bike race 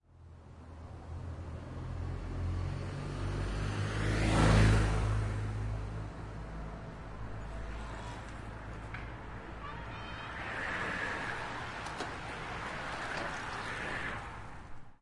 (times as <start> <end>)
7.2 15.0